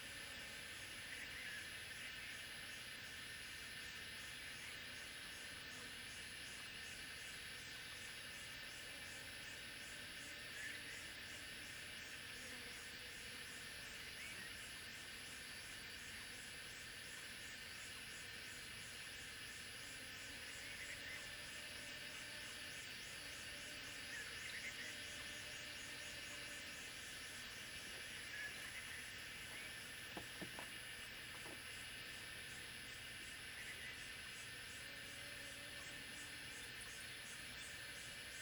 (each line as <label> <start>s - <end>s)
Cicada sounds 0.0s - 38.4s